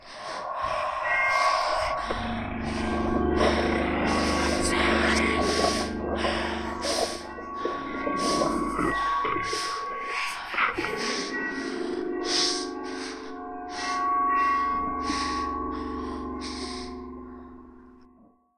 whispers 0:00.0 - 0:17.0
bell 0:00.0 - 0:18.5
breathing 0:00.0 - 0:17.8

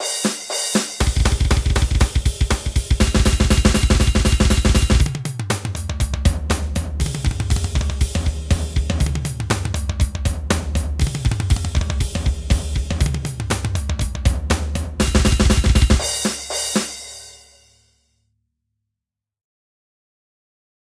double base 0:01.0 - 0:05.1

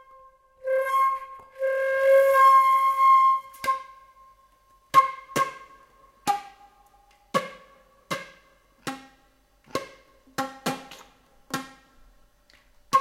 Flute improvising with the note C 0:00.0 - 0:05.8

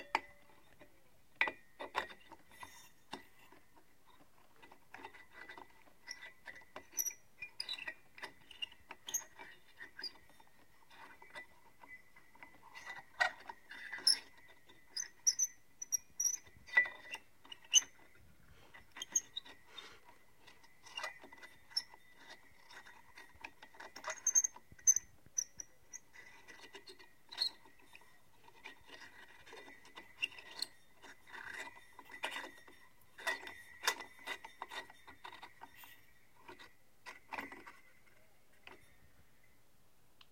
Screwing in a light bulb 0:00.0 - 0:39.0

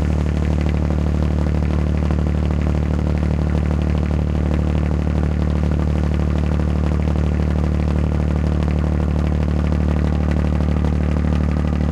Backup Generator 0:00.0 - 0:08.4

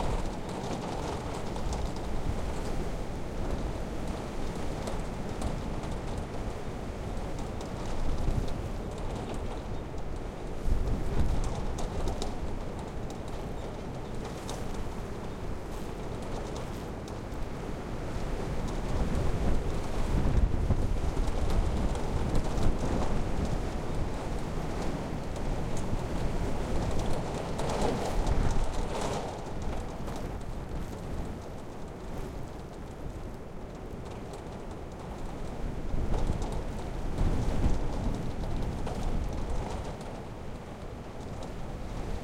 WInter storm wind lashing snow 0:00.0 - 0:42.2

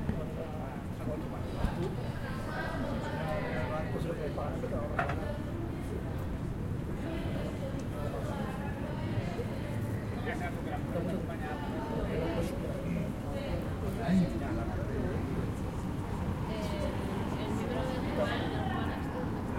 people in a quiet bar 0:00.0 - 0:19.5

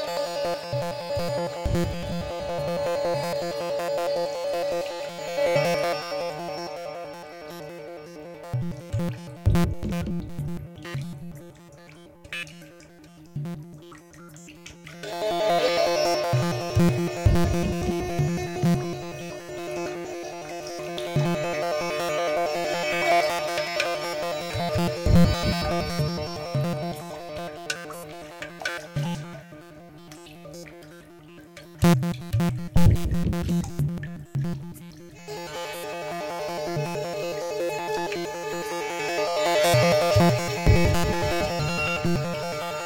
Digital error in music transmission 0:40.3 - 0:42.8

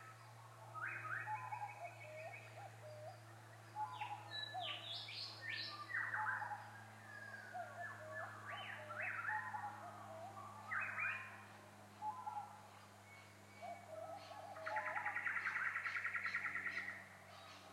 birdsong 0:00.0 - 0:17.7

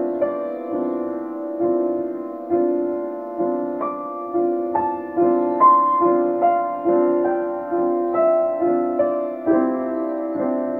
Pleyel piano 0:00.0 - 0:10.7
background noise 0:00.0 - 0:10.7

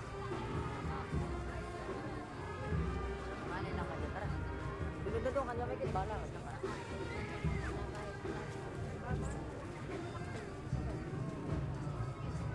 trumpets 0:00.0 - 0:05.6
drums 0:00.0 - 0:12.5
people talking 0:00.0 - 0:12.5

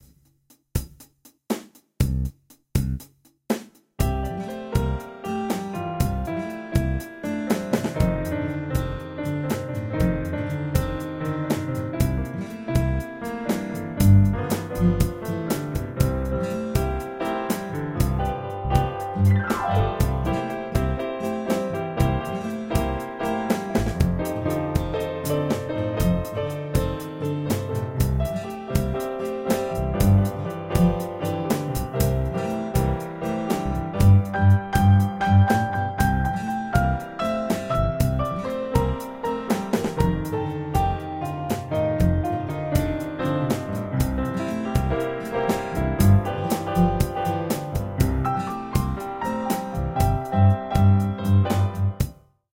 Guitar 0:04.0 - 0:52.1
Piano 1 0:04.0 - 0:52.2

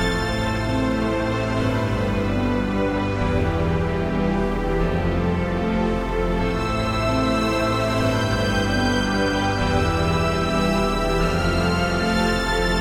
Strings 0:00.0 - 0:12.8

